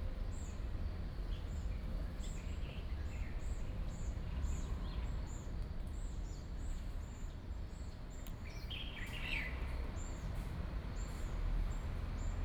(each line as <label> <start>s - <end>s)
train 0.0s - 12.4s